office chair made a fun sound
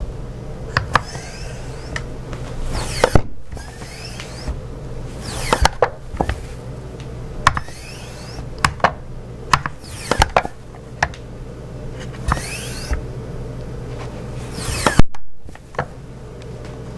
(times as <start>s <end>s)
0.7s 6.8s, 7.4s 11.2s, 12.0s 13.1s, 13.8s 15.9s